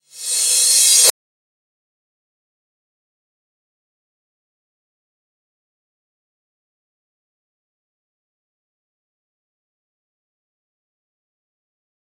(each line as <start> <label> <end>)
0.0 Reverse Cymbals 1.1